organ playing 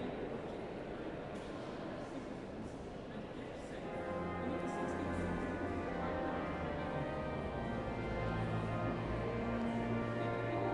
0:03.9 0:10.7

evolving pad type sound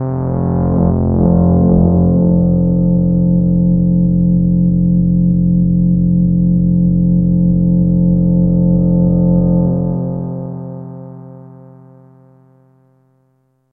0:00.0 0:04.1

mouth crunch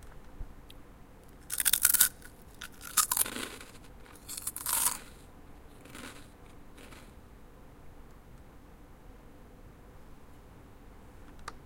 0:01.4 0:07.2

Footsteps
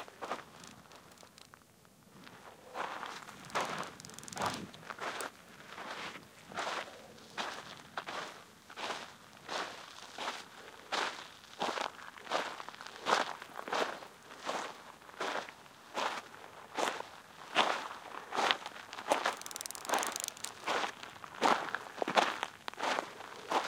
0:19.0 0:23.6

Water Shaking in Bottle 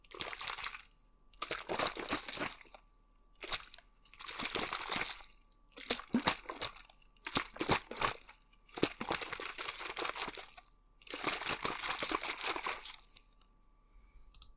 0:01.4 0:02.7, 0:03.4 0:13.2

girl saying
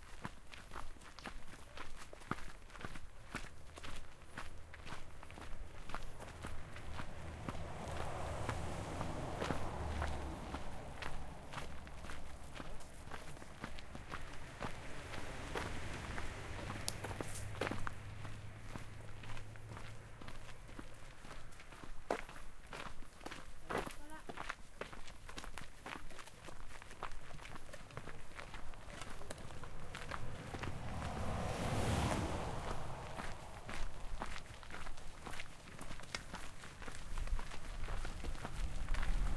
0:23.7 0:24.4

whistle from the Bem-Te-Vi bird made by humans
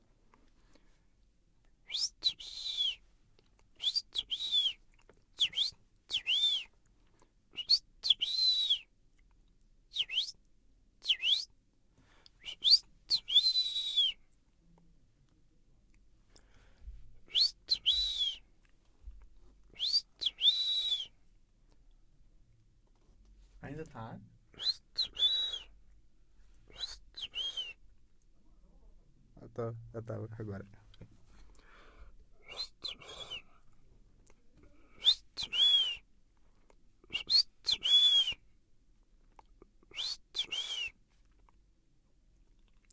0:01.8 0:03.0, 0:03.8 0:04.8, 0:05.4 0:06.8, 0:07.6 0:08.9, 0:09.9 0:10.4, 0:11.0 0:11.5, 0:12.4 0:14.2, 0:17.3 0:18.5, 0:19.7 0:21.2, 0:24.6 0:25.8, 0:26.7 0:27.8, 0:32.4 0:33.6, 0:34.8 0:36.0, 0:37.0 0:38.4, 0:39.9 0:41.0

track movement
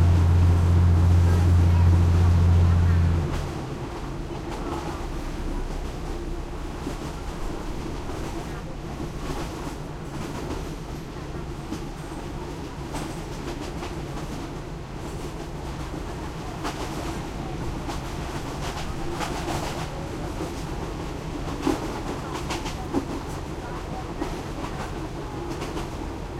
0:00.0 0:09.8

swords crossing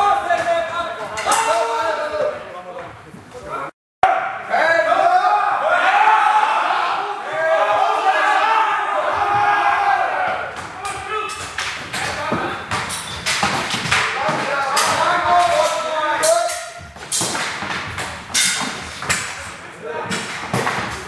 0:18.3 0:19.4

